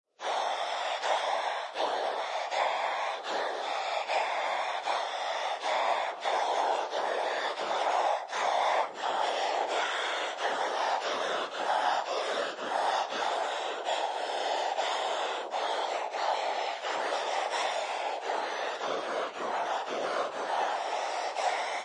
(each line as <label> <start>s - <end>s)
Monster breath 0.1s - 21.8s